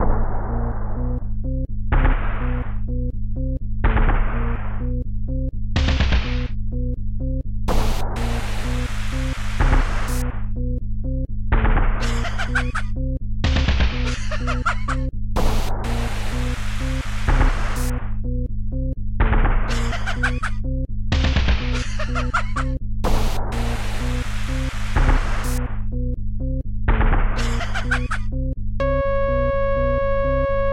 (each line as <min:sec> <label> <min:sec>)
0:00.0 bass 0:30.7
0:05.8 drum 0:06.5
0:07.7 drum 0:08.6
0:09.2 drum 0:10.3
0:13.4 drum 0:14.1
0:15.4 drum 0:18.0
0:19.2 drum 0:19.8
0:21.1 drum 0:21.8
0:23.0 drum 0:25.7
0:26.9 drum 0:27.4
0:28.8 synth 0:30.7